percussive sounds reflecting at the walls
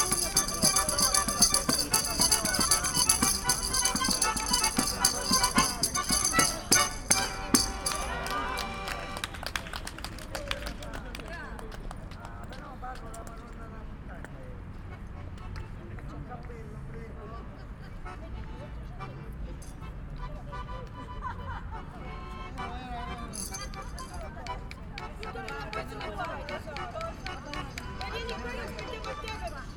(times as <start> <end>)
0.0 8.6